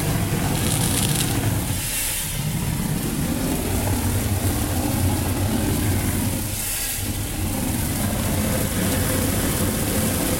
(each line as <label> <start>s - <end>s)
pool concrete spraying 0.0s - 10.3s